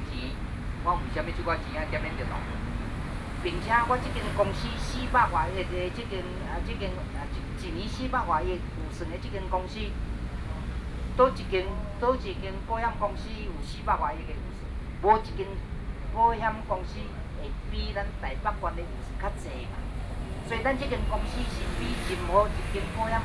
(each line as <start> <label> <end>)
0.0 Speech 2.6
3.4 Speech 23.2
17.9 protesters 23.2